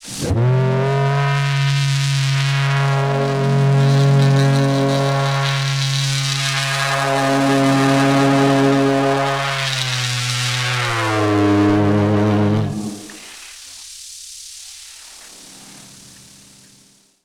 wrecked vox 0:02.5 - 0:13.2

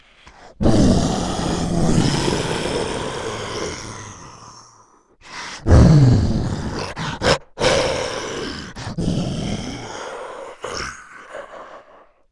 deep, aggressive beast roar 0:00.6 - 0:04.8
deep, aggressive beast roar 0:05.6 - 0:11.9

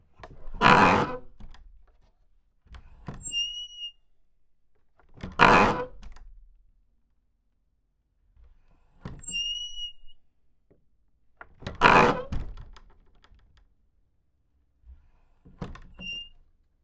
old barn door with big metal hinges and old wood 0:09.1 - 0:13.9

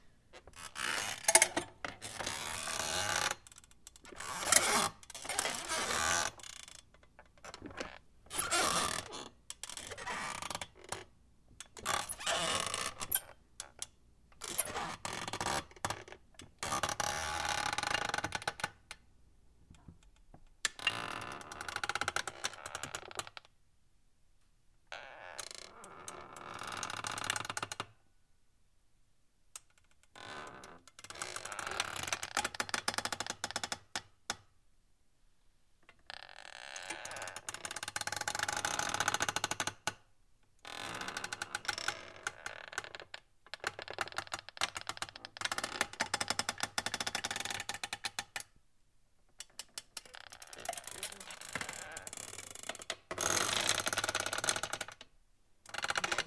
super squeaky office chair 0:00.4 - 0:03.4
super squeaky office chair 0:04.1 - 0:06.8
super squeaky office chair 0:07.4 - 0:11.0
super squeaky office chair 0:11.8 - 0:13.4
super squeaky office chair 0:14.4 - 0:16.0
super squeaky office chair 0:36.0 - 0:39.4
super squeaky office chair 0:50.0 - 0:55.0
super squeaky office chair 0:55.7 - 0:56.2

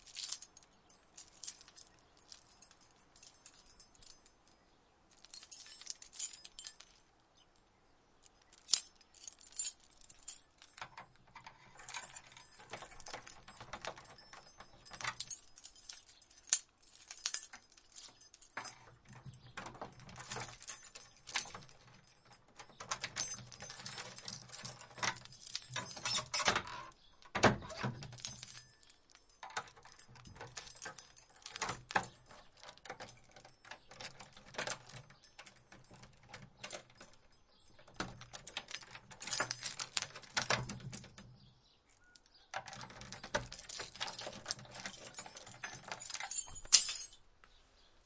keys handful in antique lock 0:00.0 - 0:07.1
keys handful in antique lock 0:08.2 - 0:47.3
handle in wood shutter door 0:10.6 - 0:16.1
handle in wood shutter door 0:17.3 - 0:28.6
handle in wood shutter door 0:29.4 - 0:47.1

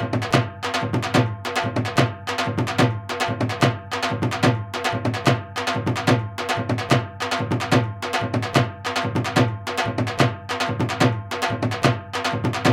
Dhol Drum Various Beats 0:00.0 - 0:12.7

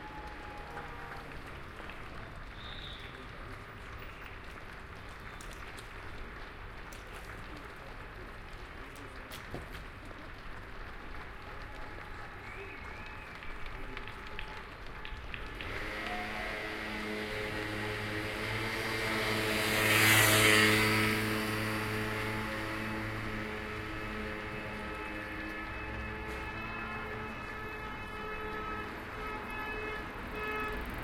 Applause 0:00.0 - 0:18.1
many Cars and MotorRolers passing by 0:00.0 - 0:31.0
Applause 0:21.8 - 0:31.0

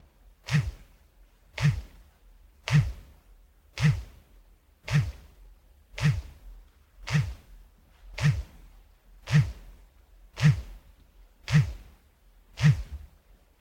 Cellphone / mobile phone vibrating in pants 0:00.5 - 0:00.8
Cellphone / mobile phone vibrating in pants 0:01.6 - 0:01.9
Cellphone / mobile phone vibrating in pants 0:02.7 - 0:03.0
Cellphone / mobile phone vibrating in pants 0:03.8 - 0:04.1
Cellphone / mobile phone vibrating in pants 0:04.9 - 0:05.2
Cellphone / mobile phone vibrating in pants 0:06.0 - 0:06.4
Cellphone / mobile phone vibrating in pants 0:07.0 - 0:07.5
Cellphone / mobile phone vibrating in pants 0:08.2 - 0:08.5
Cellphone / mobile phone vibrating in pants 0:09.3 - 0:09.6
Cellphone / mobile phone vibrating in pants 0:10.4 - 0:10.7
Cellphone / mobile phone vibrating in pants 0:11.5 - 0:11.9
Cellphone / mobile phone vibrating in pants 0:12.6 - 0:13.1

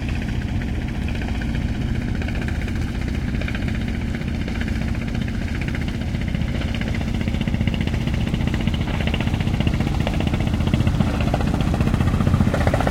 Fishing boat passing 0:00.0 - 0:12.9

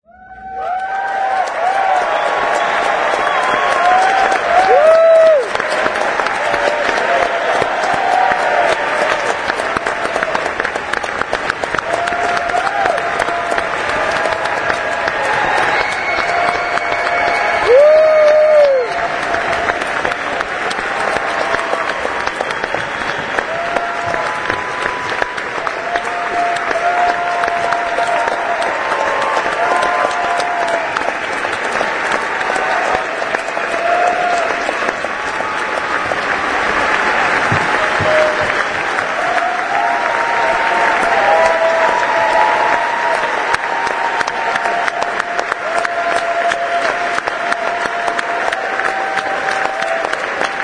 APPLAUSE-CURTAIN CALLS 0:00.1 - 0:50.6

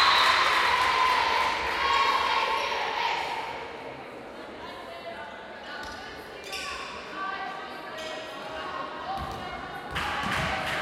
Cheerleading 0:00.0 - 0:03.6
Volleyball game 0:00.0 - 0:04.2
crowd 0:00.0 - 0:10.8
Volleyball game 0:05.7 - 0:07.2
Volleyball game 0:07.8 - 0:10.8

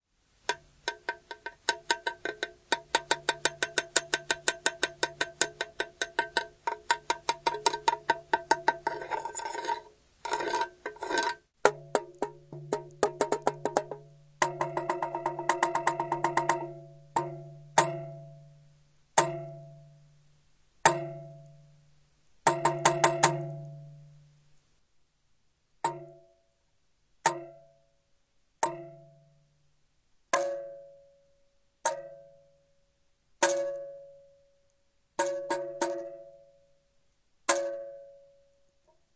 metal pipe hitting with a small stone 0:00.5 - 0:18.3
metal pipe hitting with a small stone 0:19.2 - 0:19.7
metal pipe hitting with a small stone 0:20.8 - 0:21.5
metal pipe hitting with a small stone 0:22.5 - 0:23.9
metal pipe hitting with a small stone 0:25.8 - 0:26.3
metal pipe hitting with a small stone 0:27.3 - 0:27.7
metal pipe hitting with a small stone 0:28.6 - 0:29.1
metal pipe hitting with a small stone 0:30.4 - 0:30.8
metal pipe hitting with a small stone 0:31.8 - 0:32.2
metal pipe hitting with a small stone 0:33.4 - 0:34.0
metal pipe hitting with a small stone 0:35.2 - 0:36.2
metal pipe hitting with a small stone 0:37.5 - 0:38.0

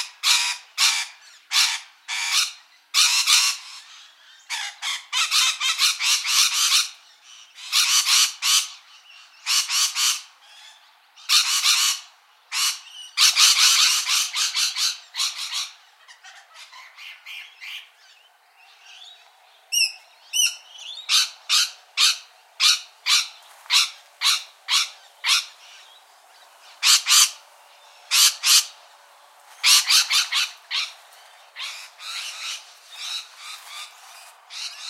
Rainbow Lorikeets 0:00.0 - 0:34.8
Rosella parrots 0:00.0 - 0:34.8

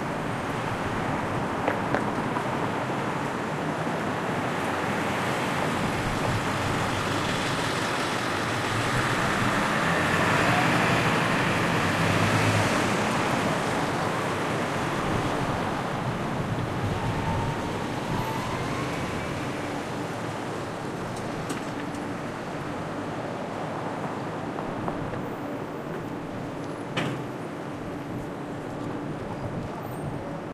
Cars can be heard driving by 0:00.0 - 0:30.5

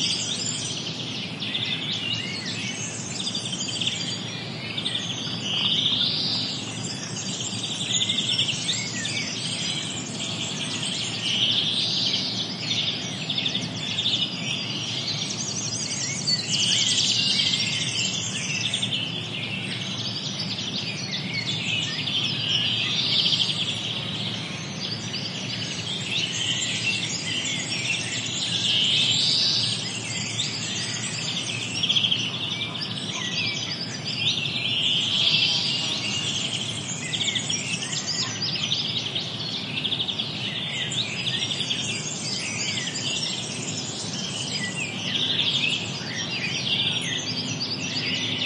Blackbird 0:00.0 - 0:48.4
Warbler 0:00.0 - 0:48.4

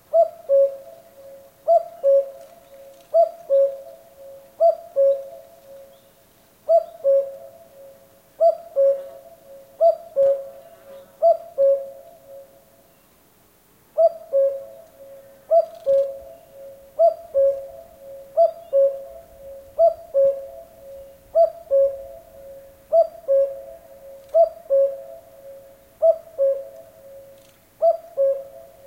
insects 0:00.0 - 0:28.8
Cuckoo cuckooing 0:00.0 - 0:06.1
Cuckoo cuckooing 0:06.7 - 0:12.6
Cuckoo cuckooing 0:14.0 - 0:28.8

